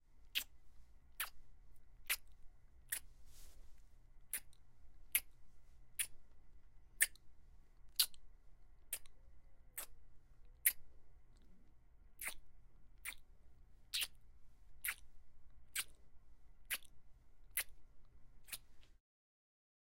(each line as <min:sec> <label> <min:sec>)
0:00.3 Kiss 0:00.6
0:02.1 Kiss 0:02.3
0:08.0 Kiss 0:08.2
0:13.9 Kiss 0:14.2
0:17.6 Kiss 0:17.8